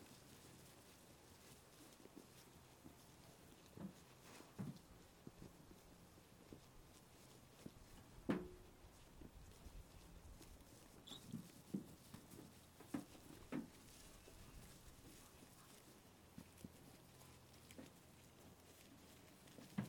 sheep greedily eating its food so fast 0:00.0 - 0:19.8
sheep munching their food 0:00.0 - 0:19.8
Shetland sheep entering their pen 0:10.5 - 0:19.8

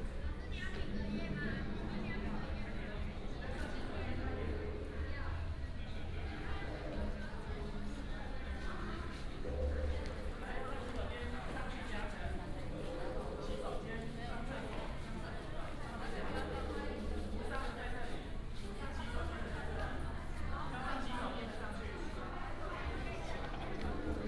Many students 0:00.0 - 0:24.2

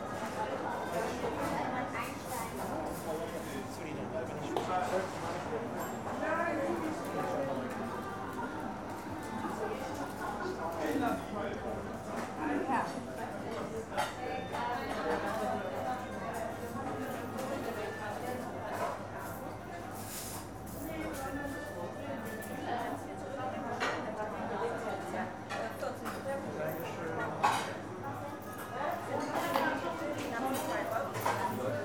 customers taking orders 0:00.0 - 0:31.8
rattle of the plates and silverware 0:26.9 - 0:31.8

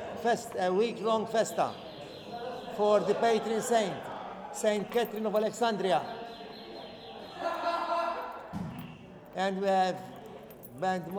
mayor talks 0:00.0 - 0:06.6
mayor talks 0:10.7 - 0:11.1

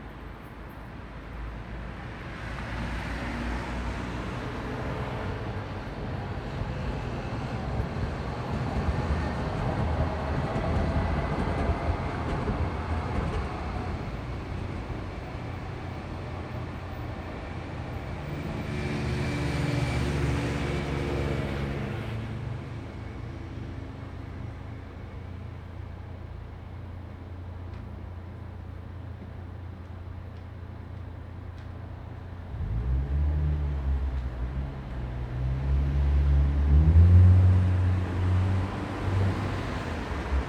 traffic 0:00.0 - 0:40.4

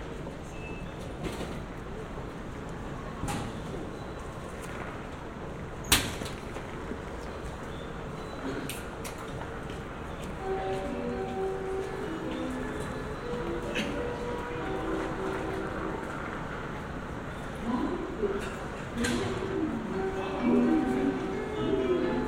trains 0:00.0 - 0:22.2
people coughing 0:13.6 - 0:14.2

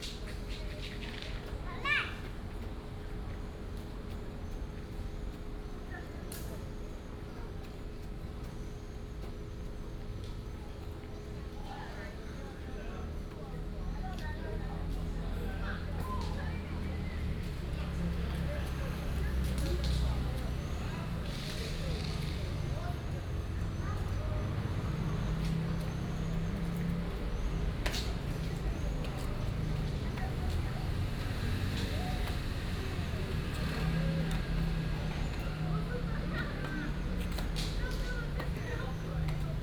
The elderly and children 0:11.7 - 0:39.6

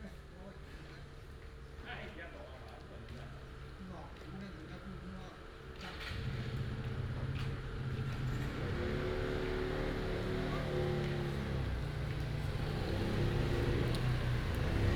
traffic sound 0:07.4 - 0:14.9

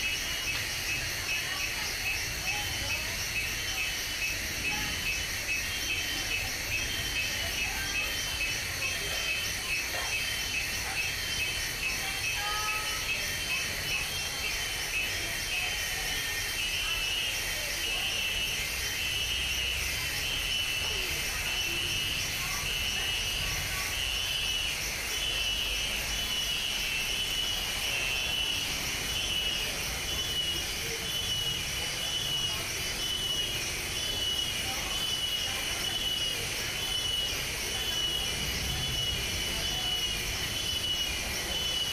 chorus of insects playing in the background 0:00.0 - 0:41.9
voices of the people 0:00.0 - 0:41.9

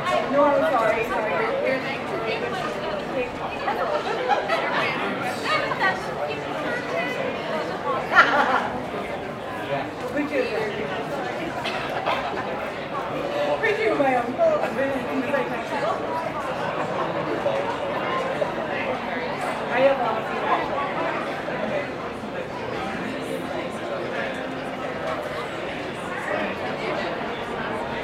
outdoor crowd chatter 0:00.0 - 0:28.0
laughter 0:08.0 - 0:08.9

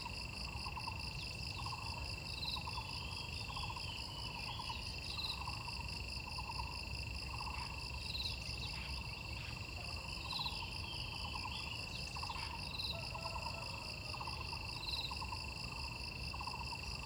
insects 0:00.0 - 0:17.0

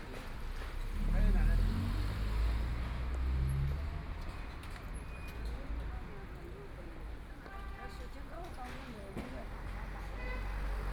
Walking on the street 0:00.0 - 0:03.8

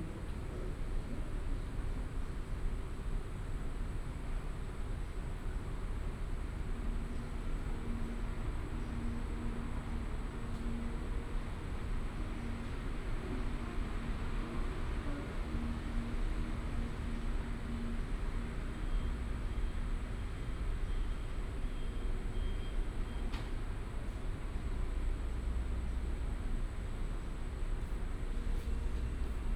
MRT train passing by 0:00.0 - 0:29.5

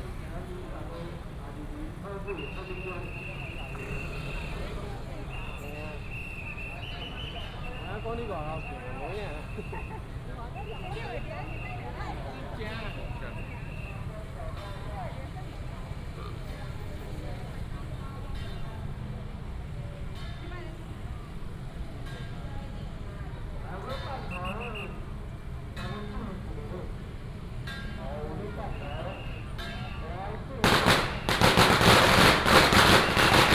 Many people gathered at the intersection 0:00.0 - 0:33.5
Firecrackers 0:29.3 - 0:33.5
fireworks 0:30.6 - 0:33.5

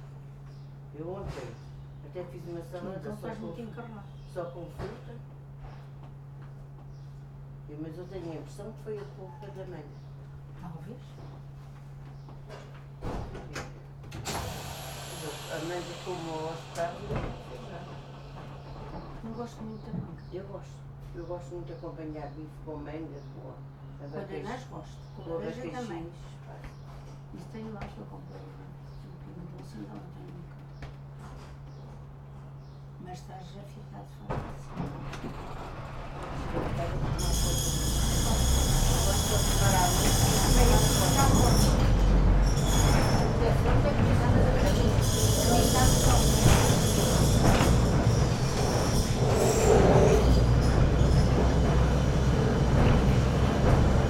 people waiting for departure 0:14.2 - 0:19.3
tram climbs up this very steeply part of the street 0:14.3 - 0:19.2
tram climbs up this very steeply part of the street 0:35.0 - 0:54.0
people waiting for departure 0:35.1 - 0:54.0

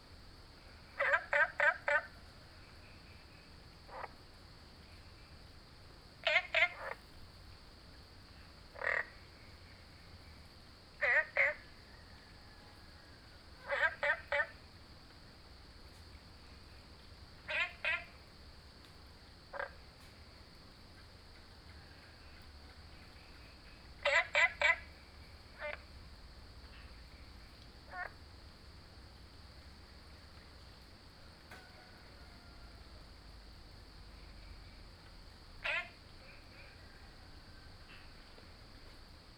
Frog chirping 0:00.9 - 0:02.2
Frog chirping 0:03.9 - 0:04.2
Frog chirping 0:06.2 - 0:07.1
Frog chirping 0:08.7 - 0:09.3
Frog chirping 0:11.0 - 0:11.8
Frog chirping 0:13.6 - 0:14.6
Frog chirping 0:17.4 - 0:18.2
Frog chirping 0:19.5 - 0:19.8
Frog chirping 0:23.3 - 0:25.9
Frog chirping 0:27.9 - 0:28.2
Frog chirping 0:35.6 - 0:37.0

